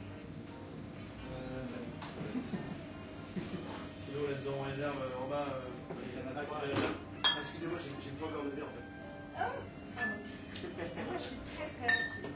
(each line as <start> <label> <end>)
0.0 jazzy background music 12.3